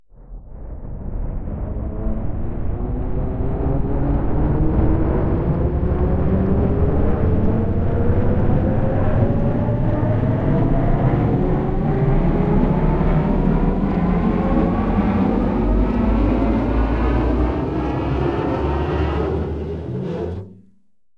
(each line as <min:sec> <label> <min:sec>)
0:00.3 ascending spacecraft sound 0:20.7